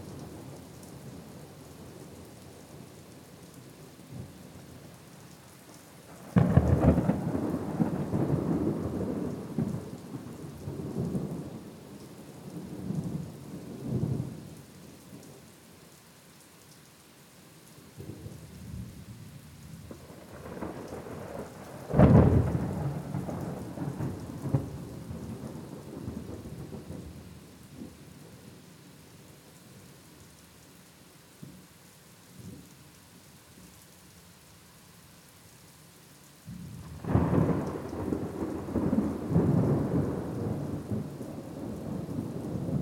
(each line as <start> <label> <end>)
0.0 rain 42.8
6.3 thunder 11.5
19.9 thunder 27.1
36.5 thunder 42.8